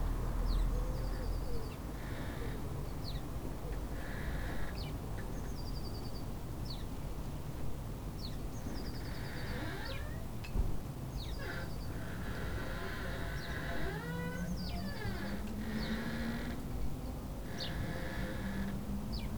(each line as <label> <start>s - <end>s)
traffic noise 0.0s - 19.3s
birds 8.2s - 10.2s
birds 11.1s - 19.3s
squeaking flagstaff 11.3s - 15.4s